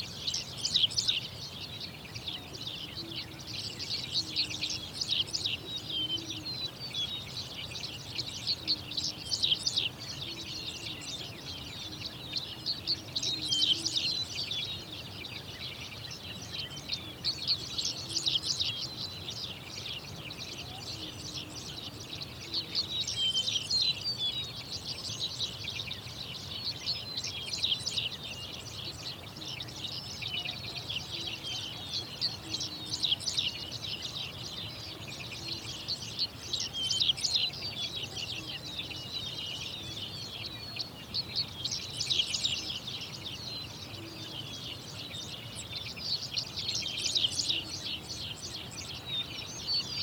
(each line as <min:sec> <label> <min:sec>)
0:00.0 Birds singing 0:50.0